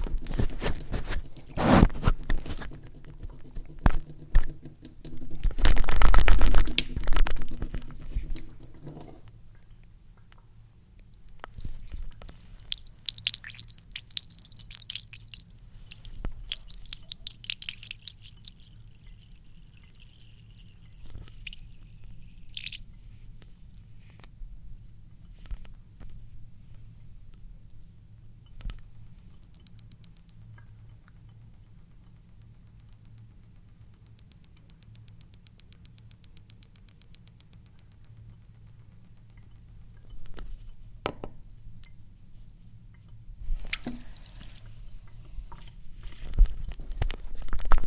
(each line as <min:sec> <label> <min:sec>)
0:09.5 water dripping from the tap into the sink 0:23.1
0:28.8 water dripping from the tap into the sink 0:40.4
0:42.9 water dripping from the tap into the sink 0:45.7